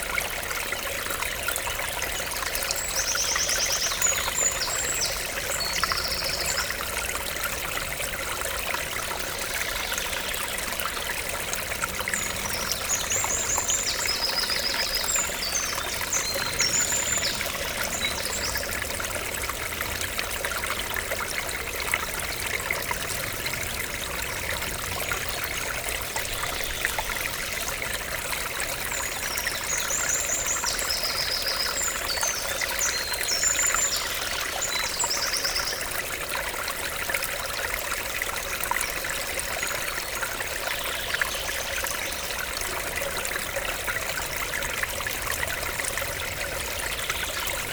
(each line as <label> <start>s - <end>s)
small stream 0.0s - 47.7s
birds 0.6s - 36.2s